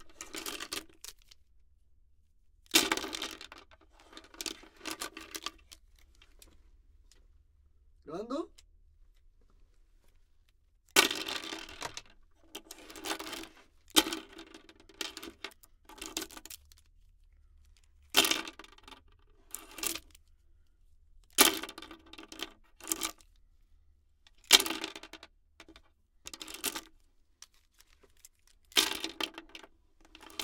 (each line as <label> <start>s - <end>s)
pencils fall on the table 0.0s - 1.2s
pencils fall on the table 2.7s - 5.6s
pencils fall on the table 11.0s - 16.5s
pencils fall on the table 18.1s - 19.0s
pencils fall on the table 21.3s - 23.2s
pencils fall on the table 24.4s - 26.9s
pencils fall on the table 28.7s - 30.4s